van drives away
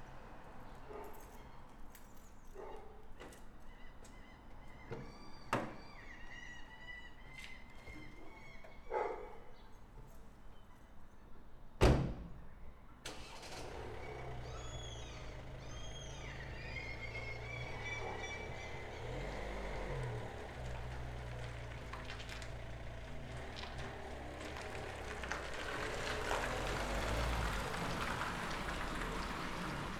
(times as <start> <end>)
13.1 29.9